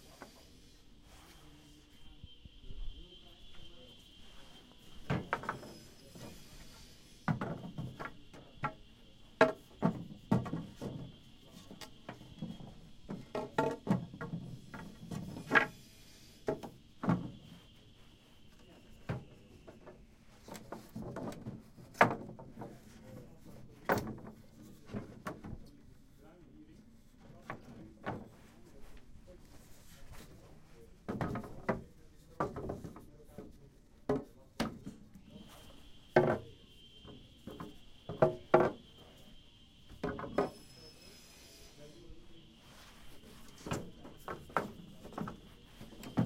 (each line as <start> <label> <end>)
5.6 circular saw 7.3
7.3 wood beams stumbling against each other 8.8
9.4 wood beams stumbling against each other 15.7
15.3 circular saw 16.5
20.5 wood beams stumbling against each other 23.0
31.1 wood beams stumbling against each other 31.8
32.4 wood beams stumbling against each other 33.5
37.4 wood beams stumbling against each other 38.9
40.4 circular saw 42.5
43.6 wood beams stumbling against each other 46.2